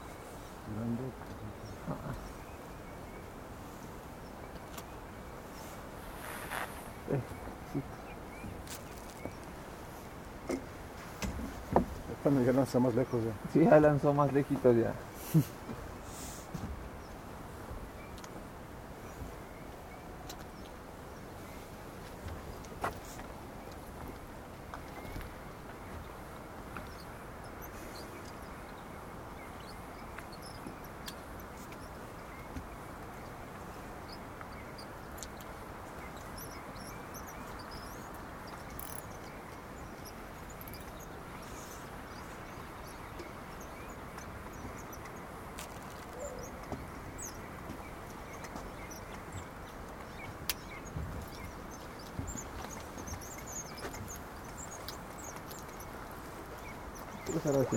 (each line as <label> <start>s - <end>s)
Fishermen at the dock 4.8s - 19.4s